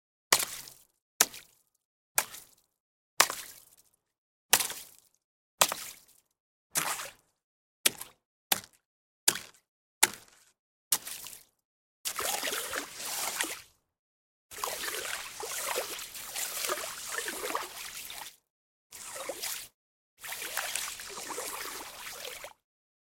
stick to splash the slush on top of a frozen pond 0:00.3 - 0:03.9
stick to splash the slush on top of a frozen pond 0:04.5 - 0:13.8
stick to splash the slush on top of a frozen pond 0:14.5 - 0:22.6

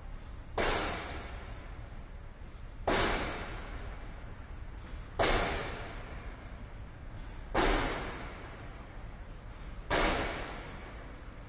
pile driver 0:00.6 - 0:01.6
pile driver 0:02.8 - 0:04.0
pile driver 0:05.2 - 0:06.3
pile driver 0:07.5 - 0:08.6
pile driver 0:09.8 - 0:11.0

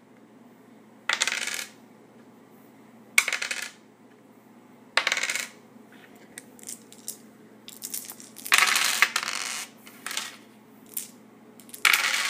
various dice rolling on a wood surface 0:01.1 - 0:01.8
various dice rolling on a wood surface 0:03.2 - 0:03.8
various dice rolling on a wood surface 0:05.0 - 0:12.2

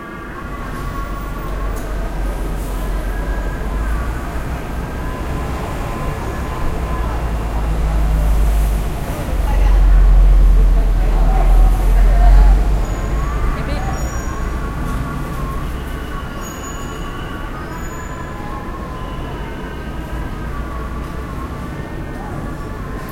noise from the traffic 0:00.0 - 0:23.1
call to prayer 0:00.8 - 0:16.6

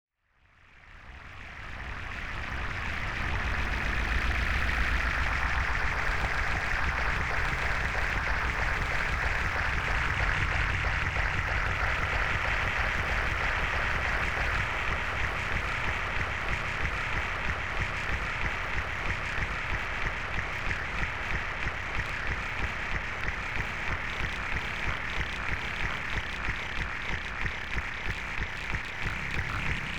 Glitch 0:29.1 - 0:29.9

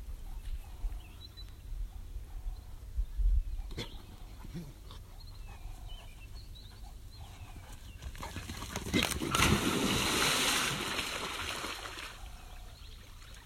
birds 0:00.0 - 0:09.6
wind 0:00.0 - 0:13.4
panting 0:03.8 - 0:09.0
splashing 0:08.6 - 0:12.4
birds 0:11.7 - 0:13.4

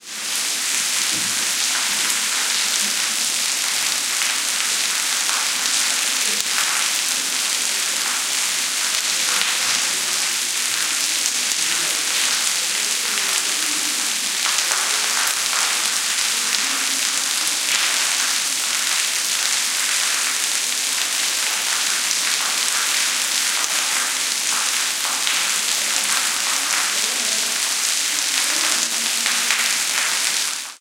rain falling on pavement 0:00.0 - 0:30.8

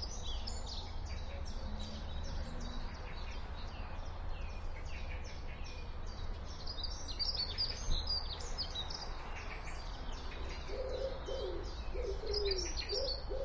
birds 0:00.0 - 0:13.4

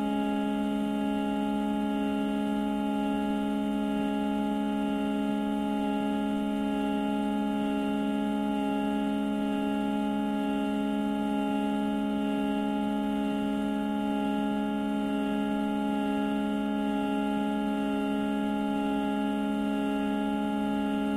Harmonium Drone1 0:00.0 - 0:21.1

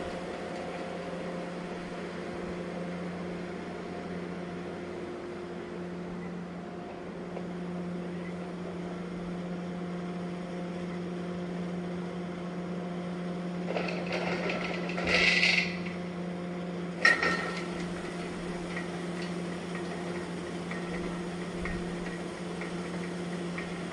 crane 0:00.0 - 0:23.9
workers 0:13.6 - 0:16.2
workers 0:16.9 - 0:23.9

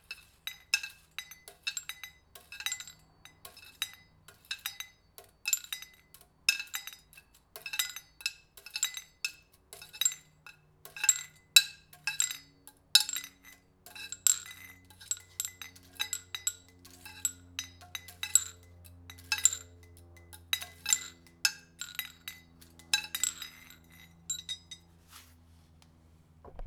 Small metal tubes clanged and shuffled on concrete 0:00.0 - 0:25.3

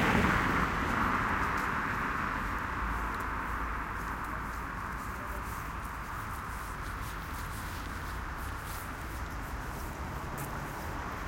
Medium traffic 0:00.0 - 0:11.2

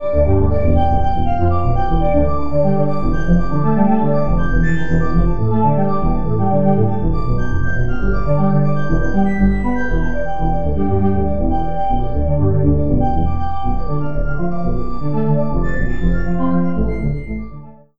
strings 0:00.0 - 0:17.6

